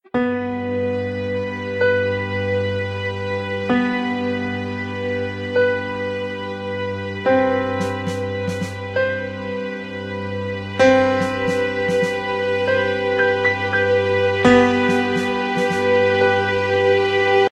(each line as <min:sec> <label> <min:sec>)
0:00.2 cinematic strings 0:17.5
0:07.3 subtle piano keys 0:17.4
0:07.8 acoustic drum 0:08.8
0:11.0 acoustic drum 0:12.2
0:14.7 acoustic drum 0:15.9